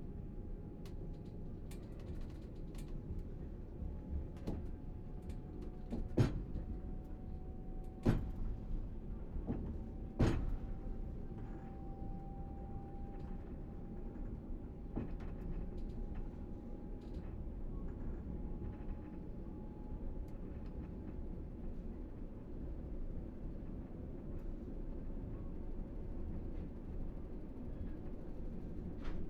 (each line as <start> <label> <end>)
17.2 Night train, stopping and starting, juddering and shaking 29.2